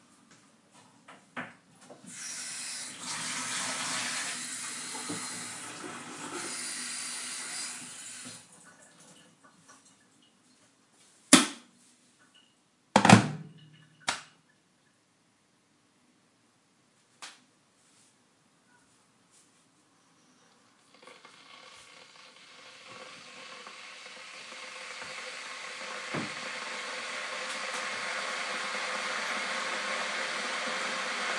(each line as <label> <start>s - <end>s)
Boiling Kettle 2.1s - 9.1s
making a cup of Tea 2.6s - 8.4s
Boiling Kettle 20.8s - 31.3s
making a cup of Tea 20.8s - 31.3s